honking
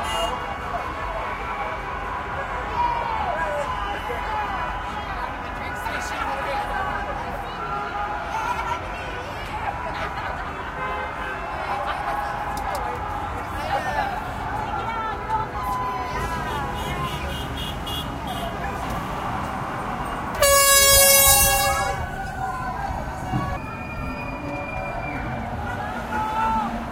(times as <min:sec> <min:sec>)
0:20.4 0:22.1